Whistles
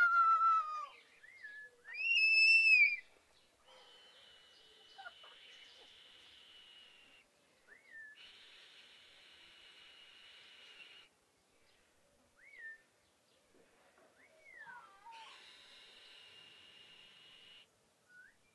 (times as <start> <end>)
0.0 3.0, 7.7 8.2, 12.4 12.9, 18.1 18.5